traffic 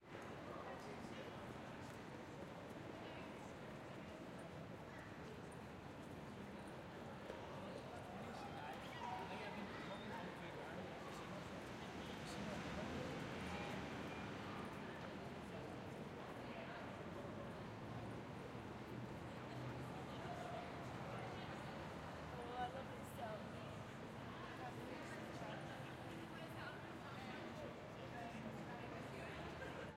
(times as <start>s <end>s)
8.0s 29.9s